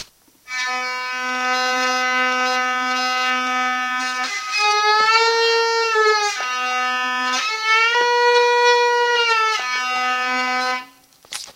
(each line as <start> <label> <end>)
0.4 Secondo cantino played on a Hurdy Gurdy 11.0